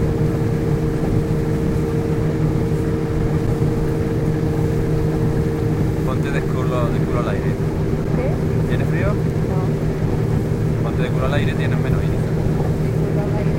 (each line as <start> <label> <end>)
0.0 outboard motor in a zodiac boat 13.5
0.0 waves splashing 13.5
6.1 voices speaking in Spanish 10.0